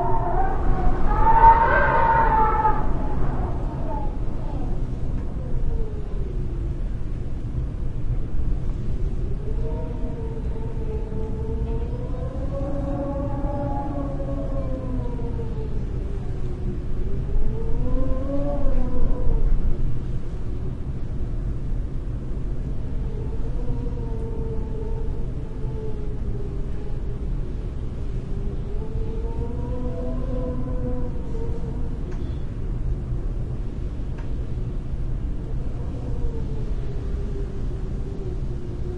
wind howling through a doorway 0:00.0 - 0:38.9

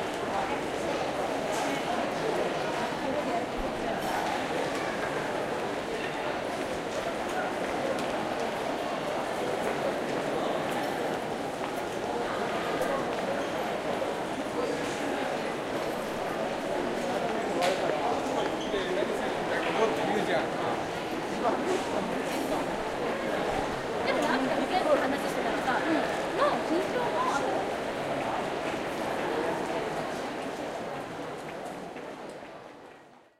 train 0:00.0 - 0:18.0
people 0:00.0 - 0:33.3
train 0:26.2 - 0:33.2

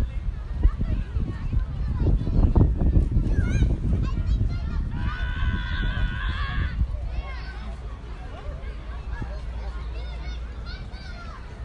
Children laughing and shrieking 0:00.0 - 0:11.6
people are walking 0:00.0 - 0:11.6

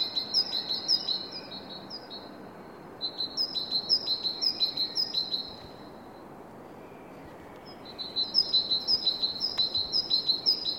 Bird singing 0:00.0 - 0:05.9
Bird singing 0:06.8 - 0:10.7

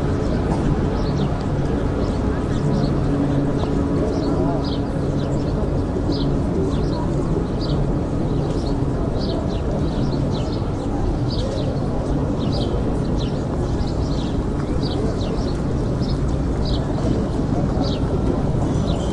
people 0:00.0 - 0:19.1

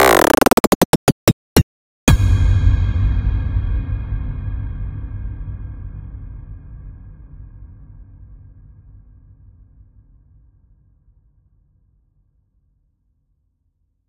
Exponential impact 0:00.0 - 0:01.6

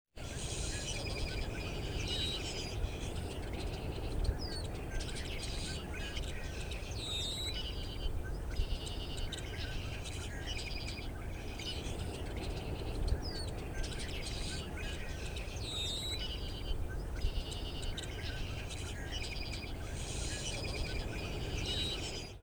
Atlantic Ocean can be heard in the distance 0:00.2 - 0:22.4
Bird sounds 0:00.2 - 0:22.4

